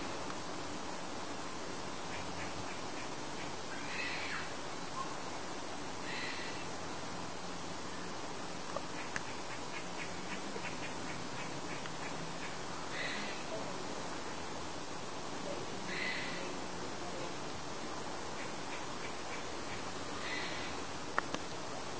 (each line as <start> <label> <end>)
3.7 grey squirrel shouting 4.5